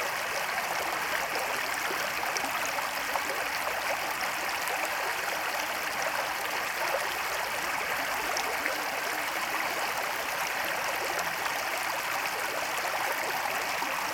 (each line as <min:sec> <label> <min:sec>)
0:00.0 River 0:14.1